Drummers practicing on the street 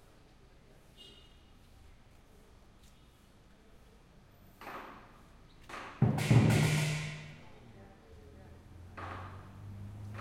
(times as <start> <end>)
5.0 7.7